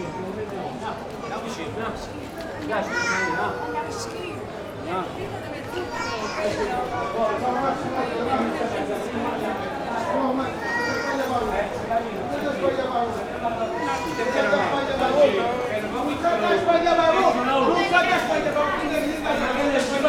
two couples arguing among another 10.1 - 20.0

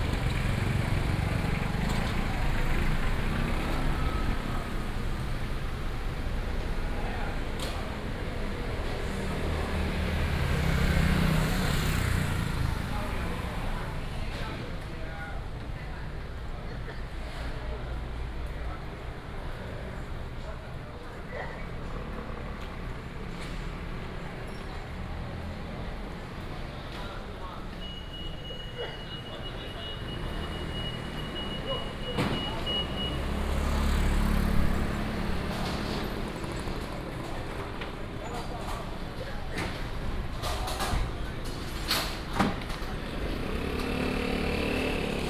traffic sound 0.0 - 45.2

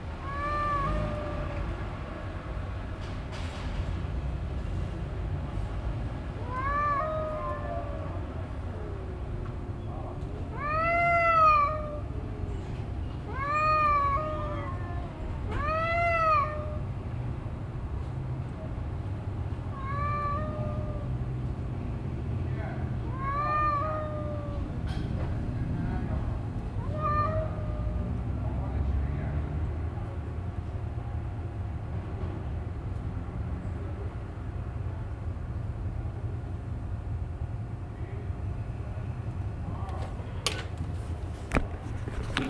Street cats 0.0 - 42.4

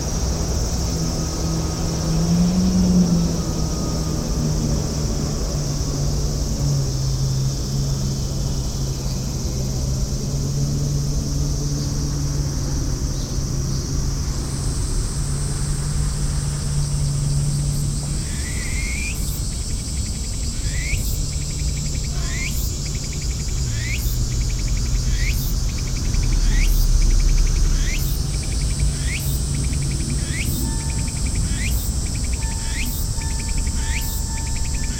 personal watercraft 0.0 - 20.3
Boats 0.0 - 34.9
cicadas 0.0 - 34.9

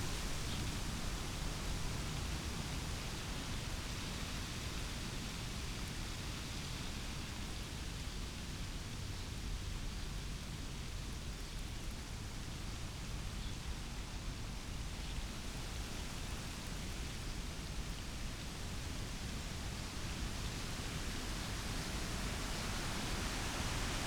fresh wind in a birch tree 0.0 - 24.0

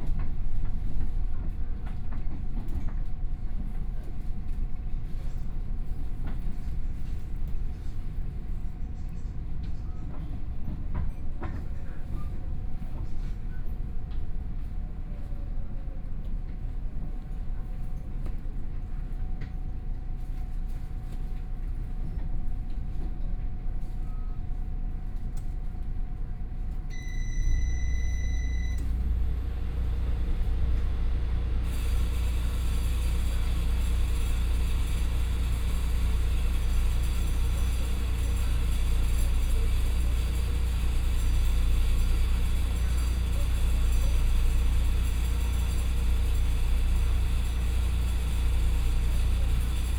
Local Train 0.0 - 49.9

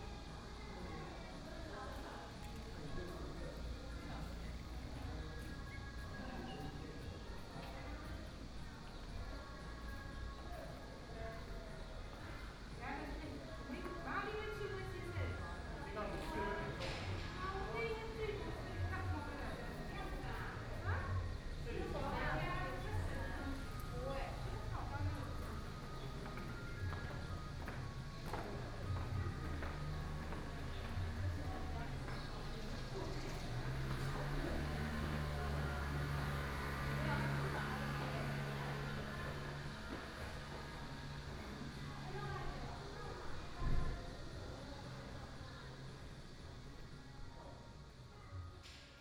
walking in the temple 0.0 - 49.0
Traffic Sound 20.8 - 43.0

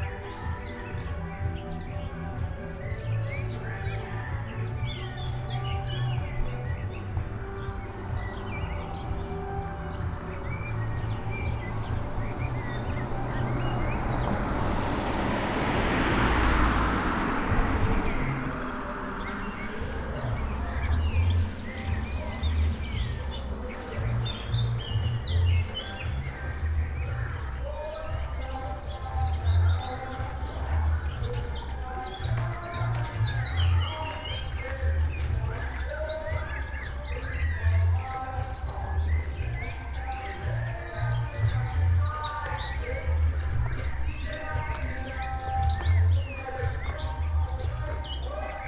birds in some large old trees 0.0 - 48.6
street mix 0.0 - 48.6

